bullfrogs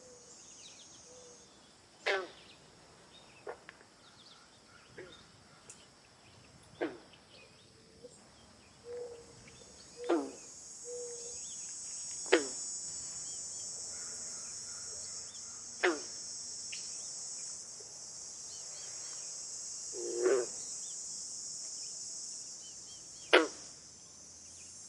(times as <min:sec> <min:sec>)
0:01.0 0:02.6, 0:03.4 0:05.9, 0:06.6 0:19.2, 0:19.8 0:21.1, 0:22.2 0:23.9